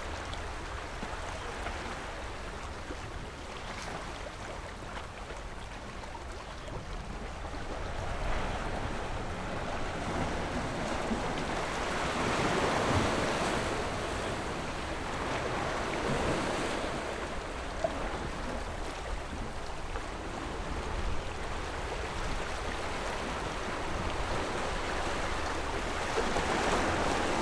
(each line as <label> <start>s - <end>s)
waves 0.0s - 27.4s